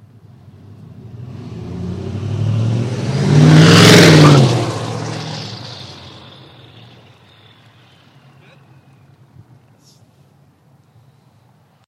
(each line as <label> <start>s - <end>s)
highly modified diesel engine with after-market turbo drives past 0.3s - 9.2s